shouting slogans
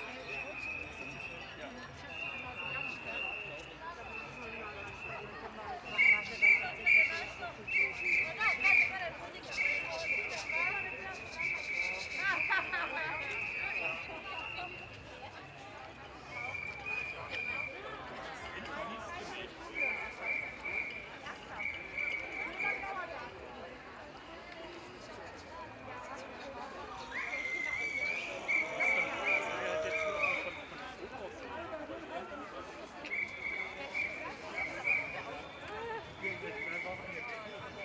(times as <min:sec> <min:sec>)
0:28.2 0:30.6